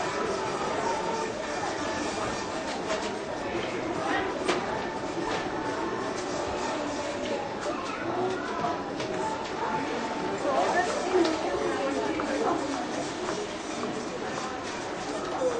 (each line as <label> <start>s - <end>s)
cashiers 0.0s - 15.5s